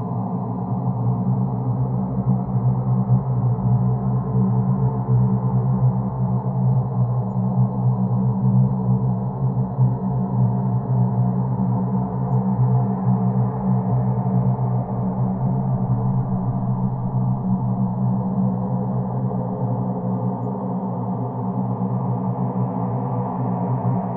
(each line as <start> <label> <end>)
14.5 Working Hyperdrive Engine 20.8